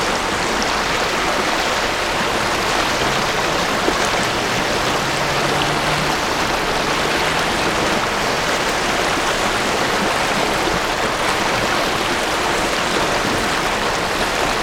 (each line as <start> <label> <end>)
0.0 river 14.6